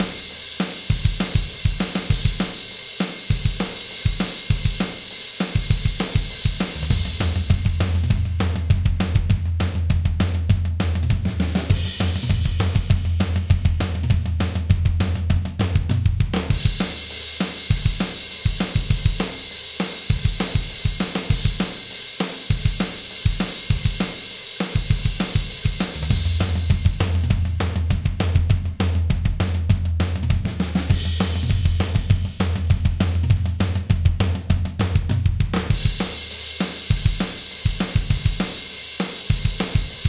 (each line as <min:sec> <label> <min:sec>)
0:00.0 PUNK RocK Drums 0:40.0